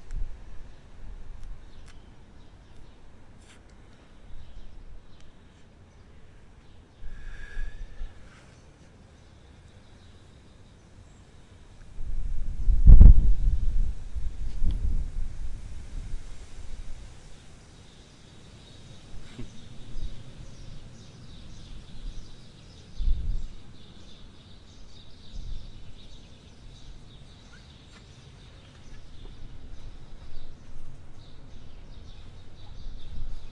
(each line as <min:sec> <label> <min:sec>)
0:00.0 wind 0:33.5
0:07.1 sigh 0:08.4
0:17.3 birds 0:33.5